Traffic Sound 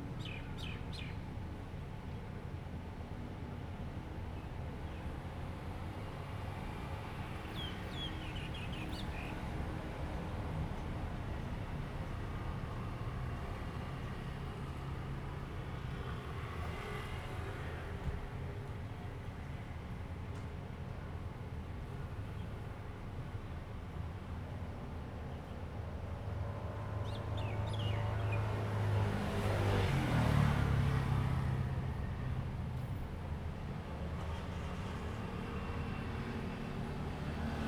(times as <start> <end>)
26.2 37.6